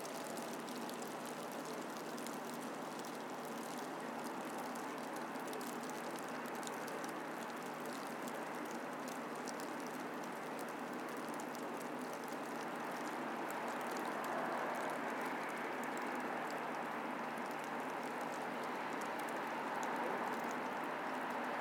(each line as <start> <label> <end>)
0.0 Light hail 21.6